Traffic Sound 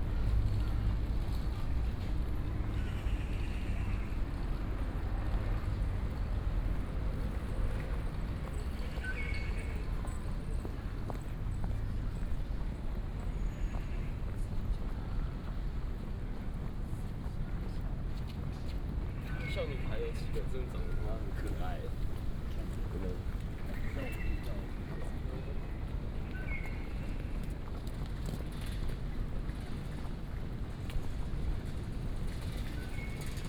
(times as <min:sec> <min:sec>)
0:18.8 0:27.4